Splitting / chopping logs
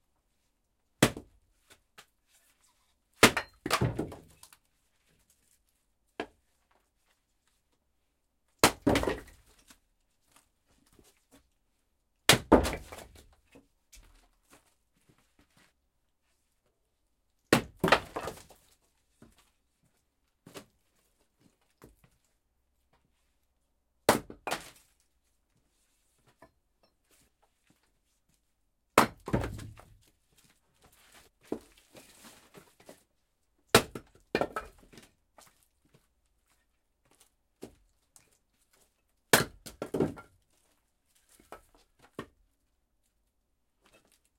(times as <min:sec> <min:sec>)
0:08.6 0:09.3, 0:12.3 0:13.0, 0:17.5 0:18.4, 0:24.1 0:24.8, 0:29.0 0:29.8